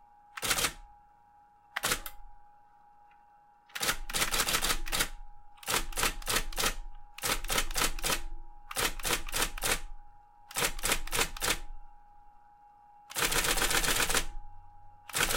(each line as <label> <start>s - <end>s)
Typewriter typing 0.4s - 0.8s
Typewriter typing 1.8s - 2.2s
Typewriter typing 3.7s - 9.9s
Typewriter typing 10.5s - 11.6s
Typewriter typing 13.1s - 14.3s
Typewriter typing 15.1s - 15.3s